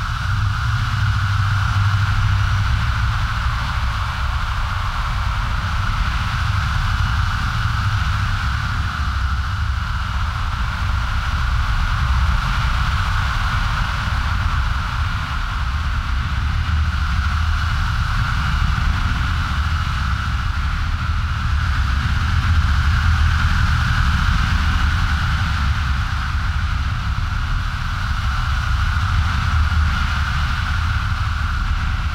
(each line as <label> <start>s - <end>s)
hard blowing high frequency wind 0.0s - 32.1s
low frequency rumble 25.6s - 32.1s